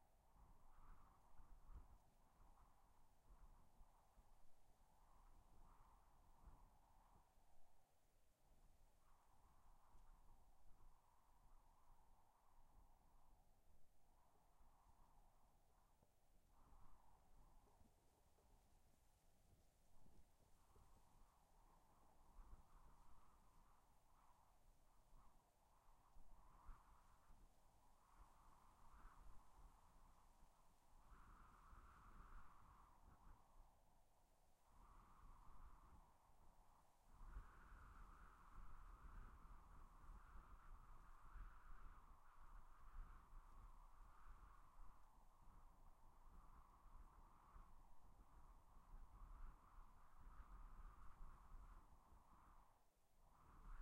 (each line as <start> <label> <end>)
0.0 Wind in the grass 53.8